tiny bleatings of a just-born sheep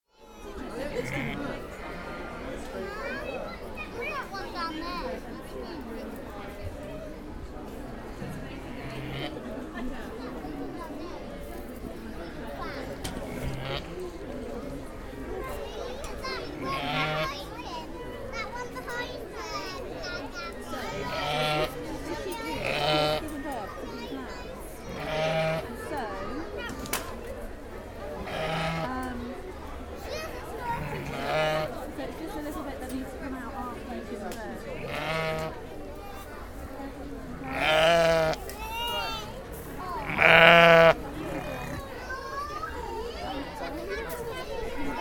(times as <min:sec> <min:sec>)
0:40.0 0:41.8